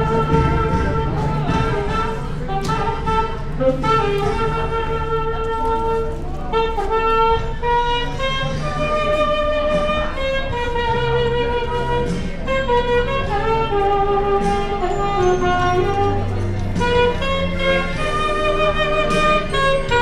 sax player 0:00.0 - 0:20.0
singer 0:00.0 - 0:20.0

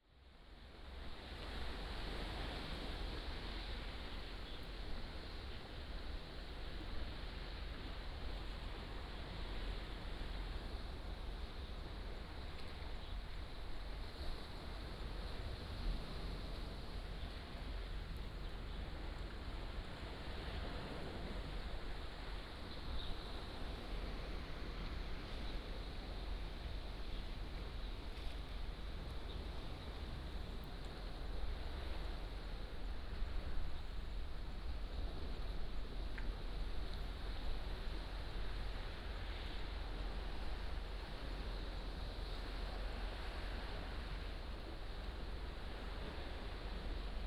waves 0:00.2 - 0:47.2

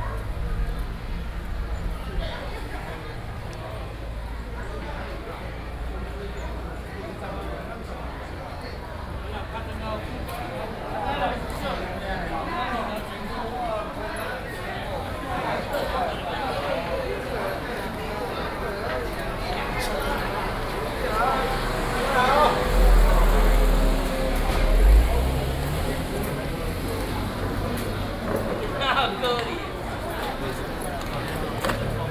group of people gathered in front of the temple 0:00.0 - 0:32.1

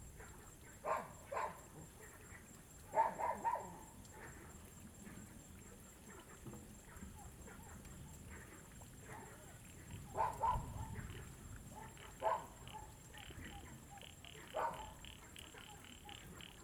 Dogs barking 0:00.8 - 0:01.7
Dogs barking 0:02.9 - 0:03.8
Frogs sound 0:09.6 - 0:16.6
Dogs barking 0:10.1 - 0:11.0
Dogs barking 0:11.7 - 0:13.1
Dogs barking 0:14.1 - 0:16.6

